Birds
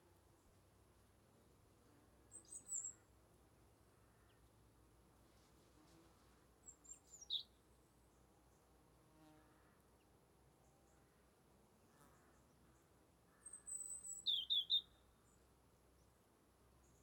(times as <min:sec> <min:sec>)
0:02.3 0:03.2, 0:06.6 0:08.7, 0:11.9 0:16.2